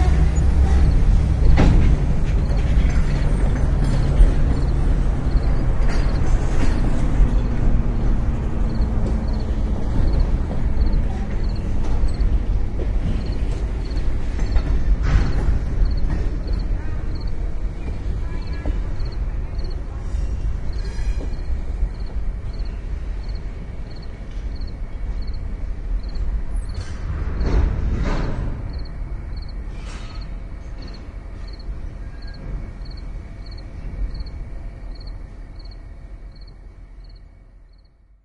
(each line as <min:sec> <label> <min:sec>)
0:00.0 train 0:38.2